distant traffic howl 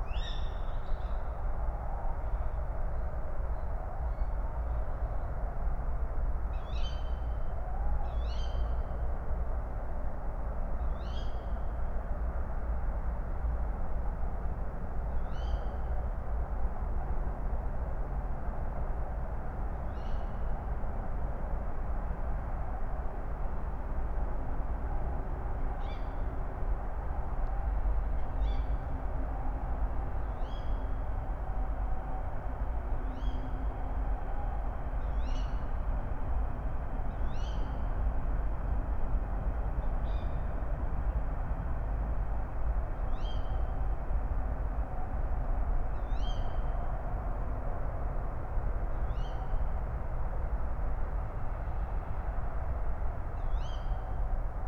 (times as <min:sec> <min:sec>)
0:12.5 0:54.6